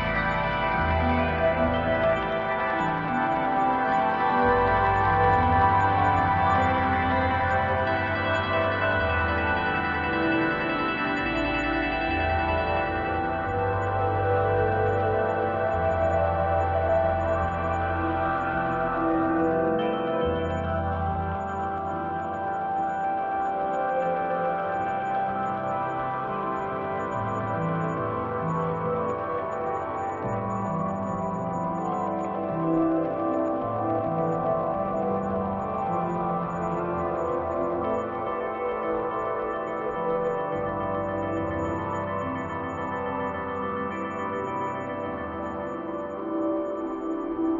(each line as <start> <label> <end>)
0.0 Piano 47.5